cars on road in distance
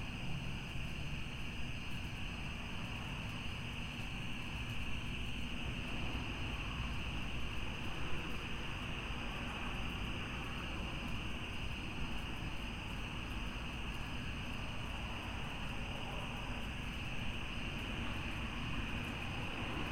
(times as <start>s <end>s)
5.4s 19.9s